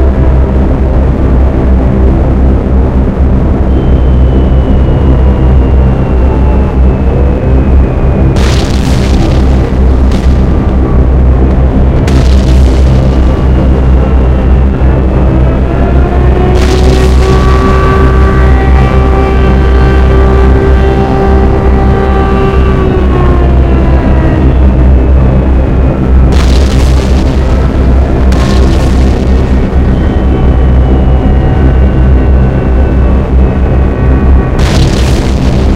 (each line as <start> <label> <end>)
0.0 Planes 35.7
8.2 Explosions 33.6
8.3 Crash 24.1
26.1 Crash 33.4
34.4 Crash 35.7
34.4 Explosions 35.7